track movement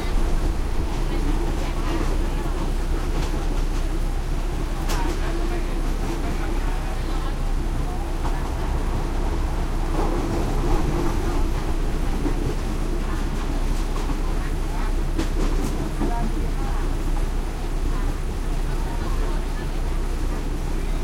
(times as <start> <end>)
0.0 14.3